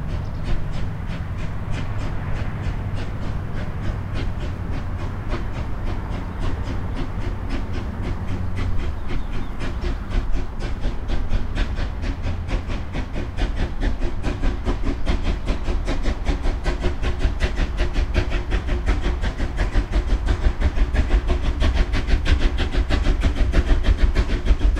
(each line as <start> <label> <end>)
0.0 narrow gauge steam train starting off uphill 24.7